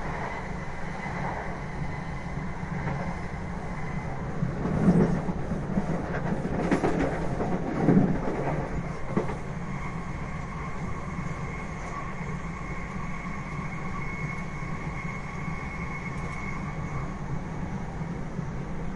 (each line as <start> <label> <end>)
0.0 Underground train ride 18.9